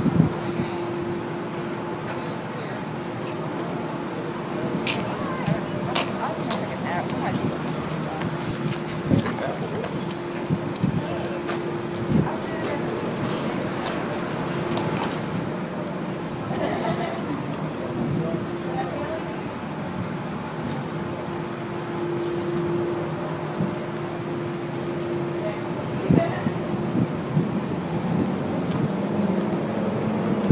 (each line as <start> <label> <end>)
0.0 traffic 30.5
0.0 wind 30.5
0.3 distant, muted conversations 30.4
16.4 distant laughter 17.6